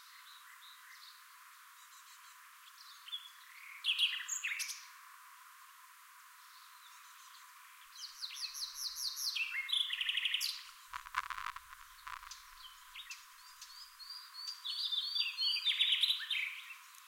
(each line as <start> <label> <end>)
10.9 wind noise 13.1